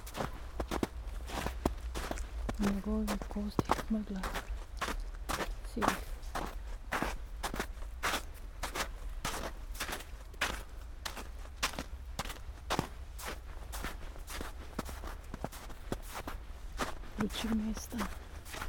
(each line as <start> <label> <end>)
0.0 snow 18.6
0.0 steps 18.6
2.6 spoken words 4.4
5.6 spoken words 6.1
17.2 spoken words 18.2